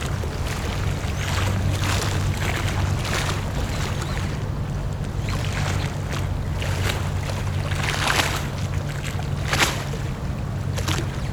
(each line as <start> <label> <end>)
0.0 waves 11.3